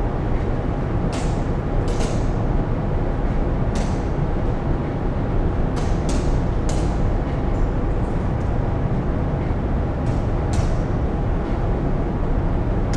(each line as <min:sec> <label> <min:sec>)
0:00.0 room ventilation 0:12.9